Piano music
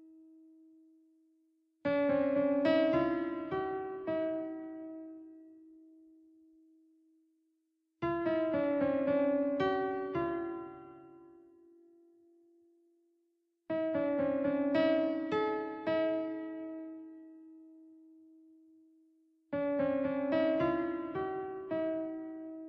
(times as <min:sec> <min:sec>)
0:01.9 0:05.5, 0:08.0 0:11.5, 0:13.7 0:17.4, 0:19.6 0:22.6